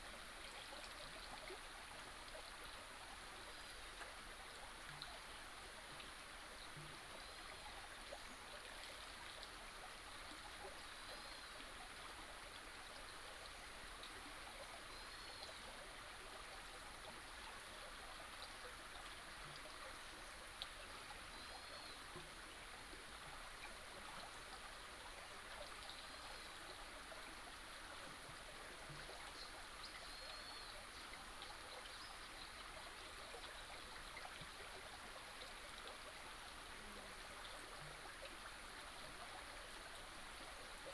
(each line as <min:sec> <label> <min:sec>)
0:00.0 small stream 0:40.9